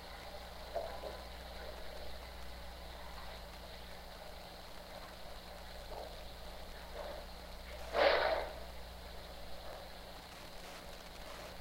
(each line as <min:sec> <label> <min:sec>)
0:00.0 heaters at my school make some very good spontaneous noises 0:11.6